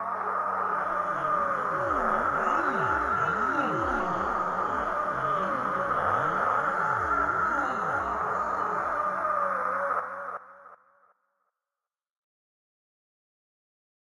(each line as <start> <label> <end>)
0.3 interference 10.3